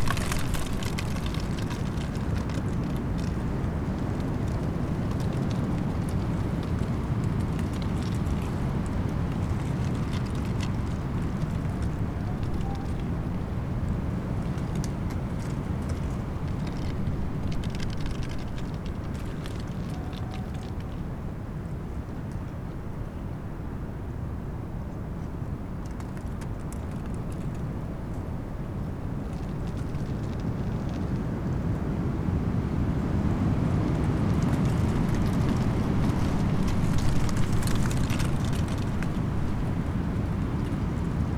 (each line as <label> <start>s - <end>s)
dry leaves during storm 0.0s - 21.2s
dry leaves during storm 29.0s - 41.3s